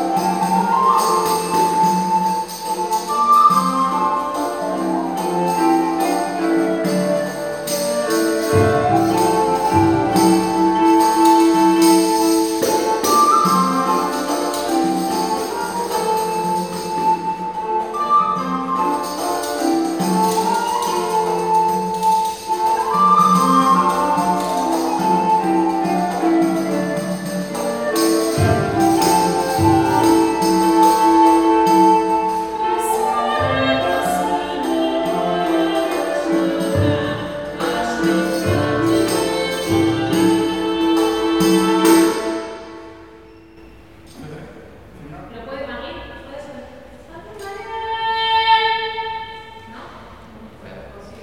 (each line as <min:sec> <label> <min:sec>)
0:00.0 fute, cornet 0:43.1
0:00.0 harp 0:44.3
0:00.0 percussions 0:51.2
0:00.0 viela de arco 0:51.2
0:44.1 voice 0:48.4
0:49.6 voice 0:51.2